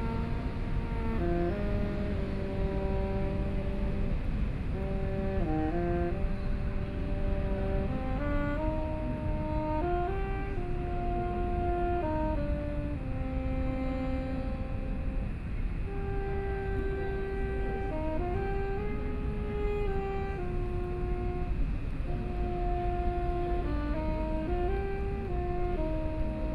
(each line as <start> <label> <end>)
0.0 old man is practicing saxophone playing 26.5